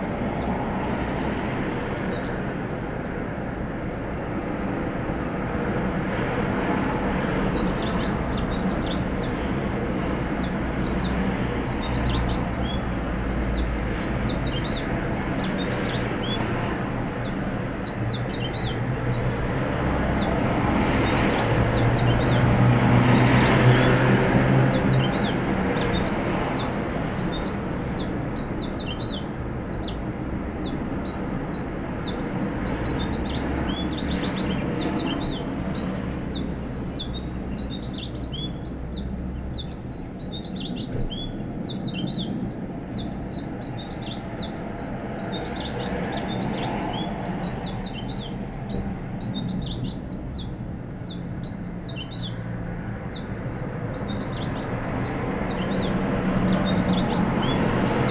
Sidewalk Birdsong 0.0 - 58.1
traffic 0.0 - 58.1

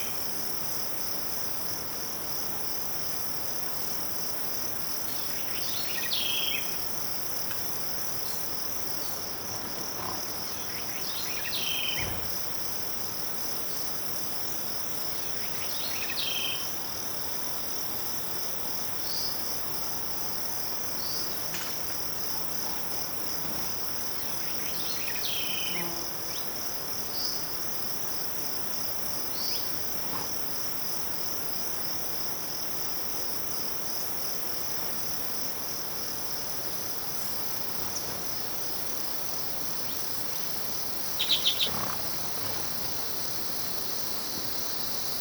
insects 0.0 - 45.2
birds 7.5 - 12.4
birds 39.8 - 45.2

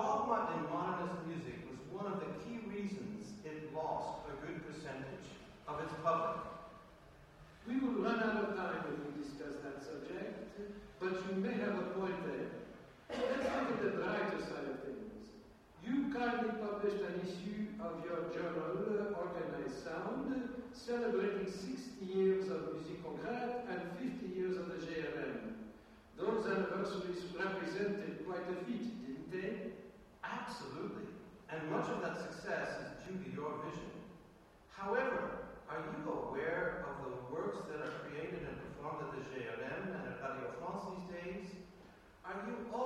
ConversationWith 7.2 - 25.2

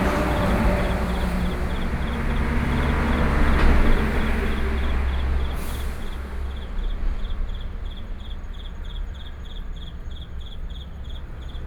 train traveling through 0.0 - 7.8
Traffic Sound 0.0 - 10.1
Insects sound 0.0 - 11.6

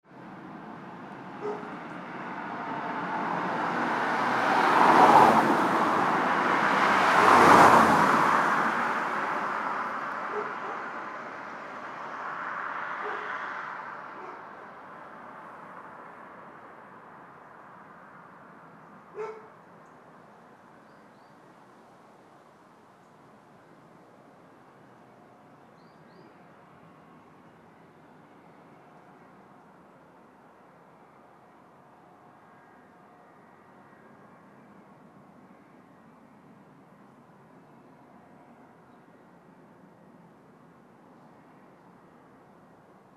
Cars 0.0 - 37.6
dog 1.4 - 1.8
dog 10.3 - 10.9
dog 13.0 - 13.4
dog 14.2 - 14.5
dog 19.1 - 19.6

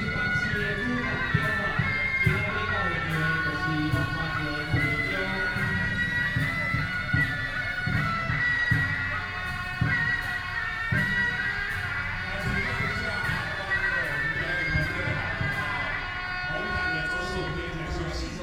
traditional performing teams 0.0 - 18.4

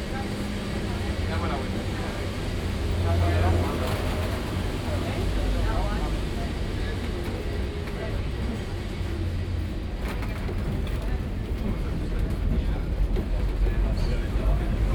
tram electrico nr.28 while driving through the city 0.0 - 14.9

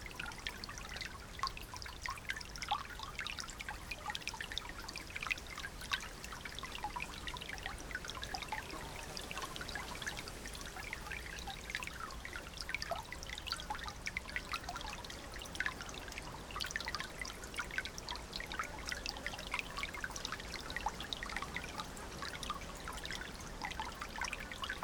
tinkling water sounds 0.0 - 24.8

